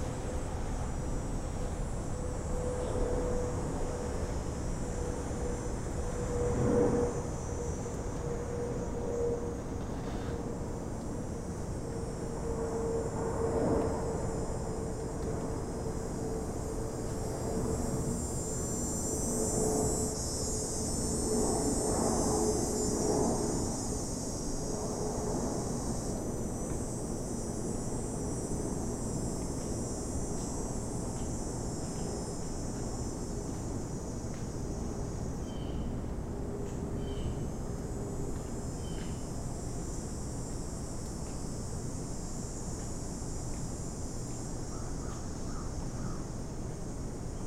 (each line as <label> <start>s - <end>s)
cicada 0.0s - 47.4s